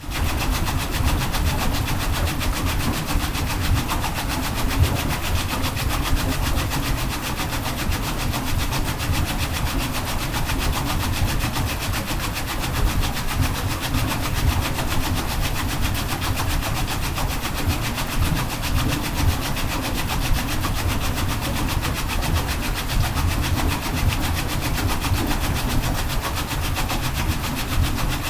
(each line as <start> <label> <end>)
0.0 Water wheel 28.2